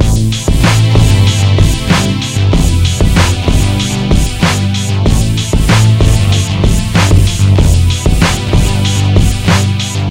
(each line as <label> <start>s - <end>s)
bass 0.0s - 10.1s
chords 0.0s - 10.1s
drums 0.0s - 10.1s